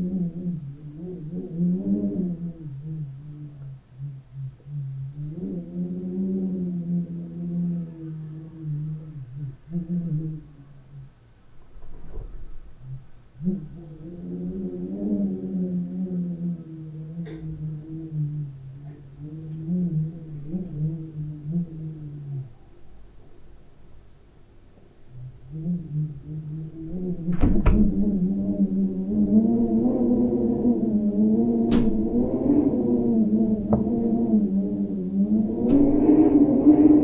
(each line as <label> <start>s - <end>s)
rumble of a window 6.8s - 37.0s